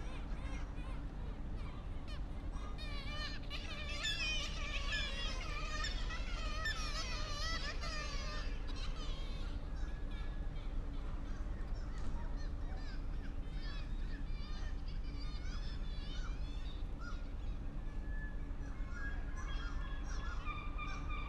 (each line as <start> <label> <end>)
0.0 seagulls 21.2